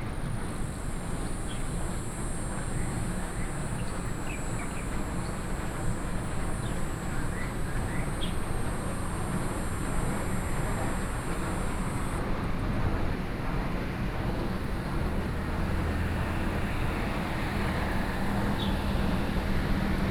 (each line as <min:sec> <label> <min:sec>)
0:00.0 Traffic Sound 0:20.1